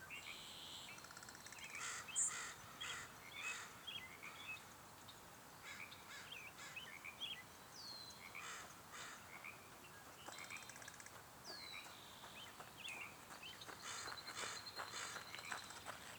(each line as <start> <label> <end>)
0.2 birds 16.1
9.7 jogger 16.1